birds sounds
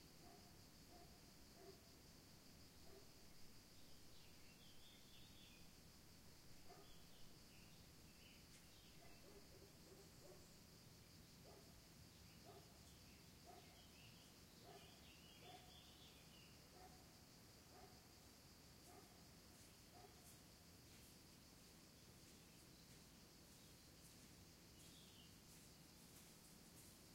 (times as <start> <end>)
12.1 17.0, 22.2 25.7